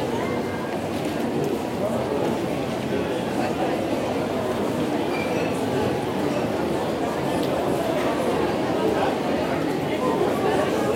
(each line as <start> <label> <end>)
0.0 hubbub 10.9